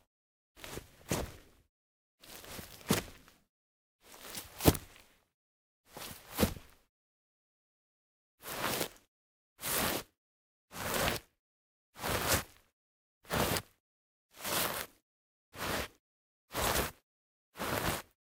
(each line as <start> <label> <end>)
2.2 Footsteps sequence on Grass 3.4
4.1 Footsteps sequence on Grass 5.1